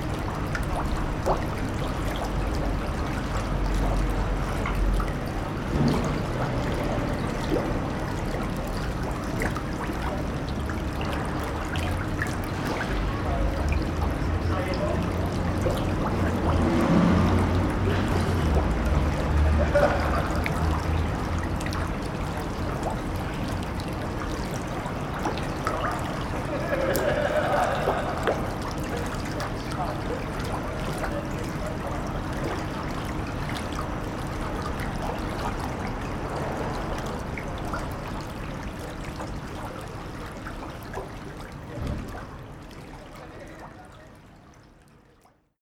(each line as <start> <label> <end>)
0.0 Brook 45.2